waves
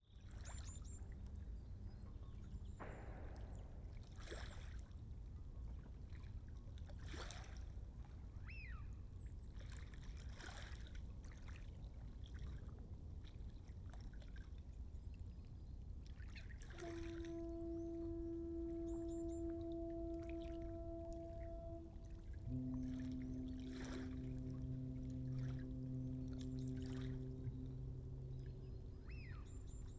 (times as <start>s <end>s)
2.8s 5.1s, 6.1s 7.7s, 9.6s 14.6s, 16.0s 29.9s